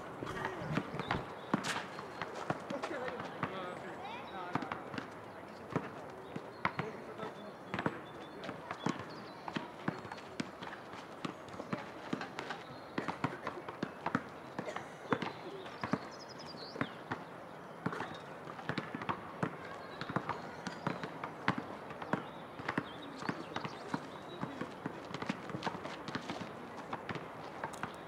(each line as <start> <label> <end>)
0.0 boys playing basket 3.8
16.8 boys playing basket 28.0